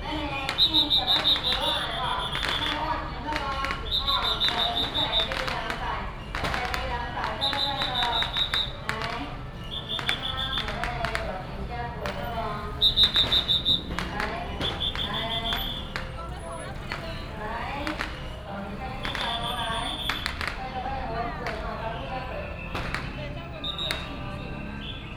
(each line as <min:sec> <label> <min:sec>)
0:00.0 Many people gathered at the intersection 0:25.1
0:00.1 Firecrackers and fireworks 0:25.1